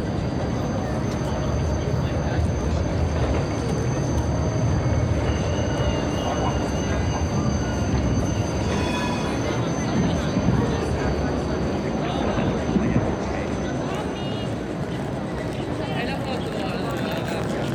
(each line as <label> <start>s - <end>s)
Trams 0.0s - 17.7s